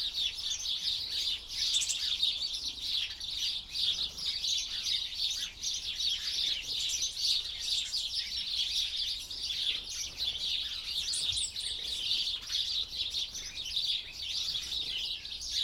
0.0s blue and great tits squabble on the feeders 15.6s
0.0s flock of house sparrows 15.6s

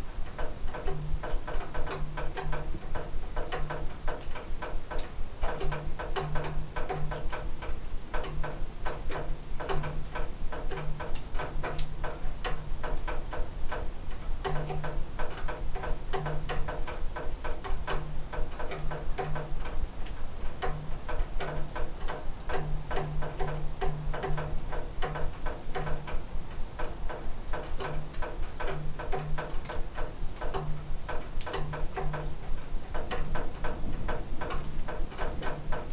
0.0s Water dripping around a house porch 35.9s

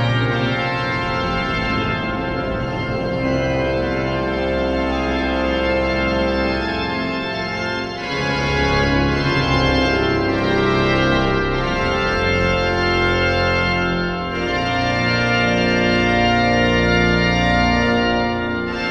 0.0s Organ concert 18.9s

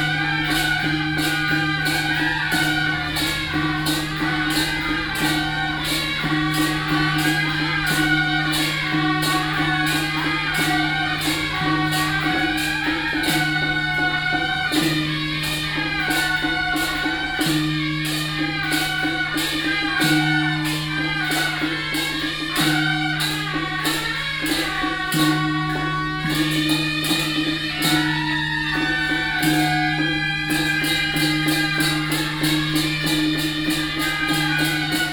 0.0s Traffic sound 20.0s
20.6s Traffic sound 35.1s

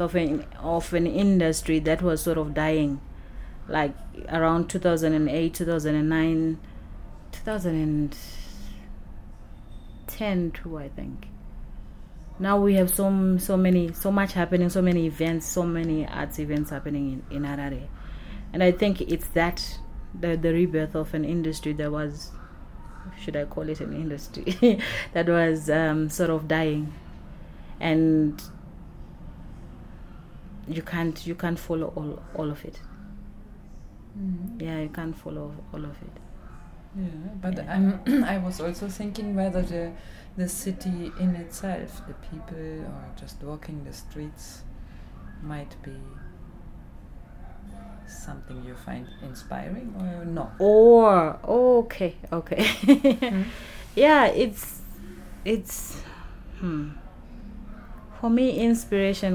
0.0s conversation 59.3s
0.0s muffled sounds of the rush-hour city 59.3s
33.5s people’s voices roaming through Book Café 59.3s

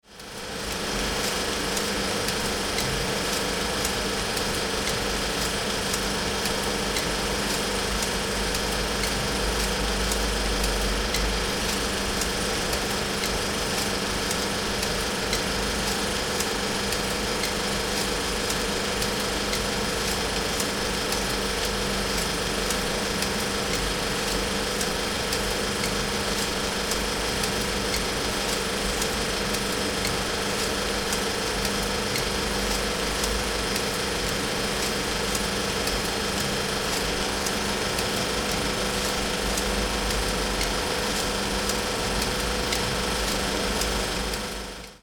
0.0s film spool hits unwinding movie periodically 45.0s
0.1s projector running 45.0s

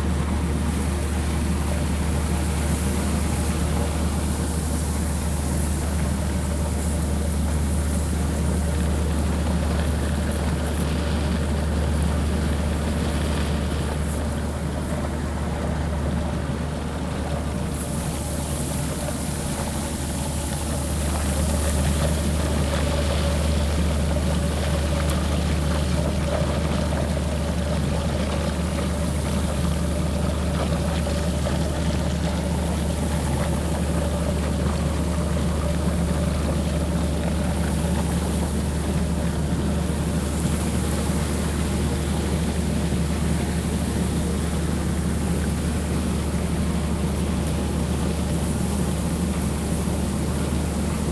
0.0s machinery next to the building 51.1s

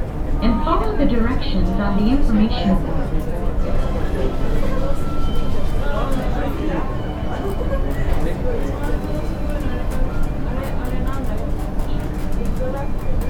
0.0s internal gate shuttle train 13.2s

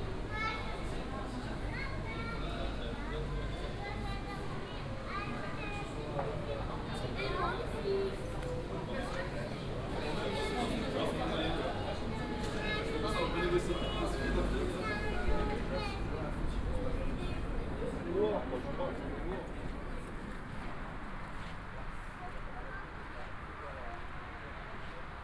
0.0s people waiting for departure 25.2s

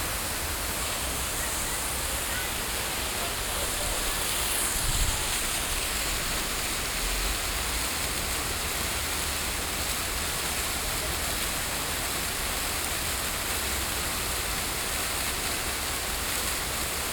0.0s water 17.1s

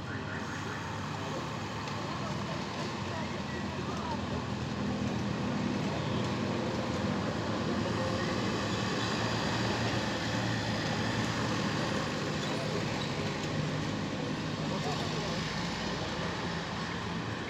0.0s heavy cars passing by 17.4s
0.5s people talking 4.6s
14.6s people talking 16.5s

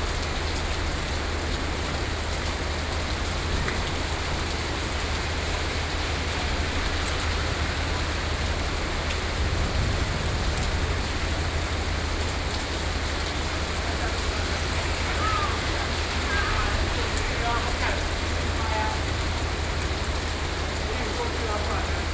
0.0s Traffic Noise 22.1s
8.4s Thunderstorm 20.6s

